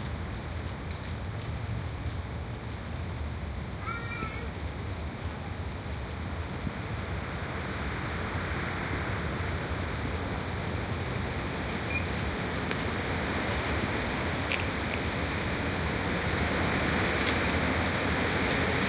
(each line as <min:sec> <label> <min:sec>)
0:00.0 leaves 0:18.8
0:00.0 wind 0:18.8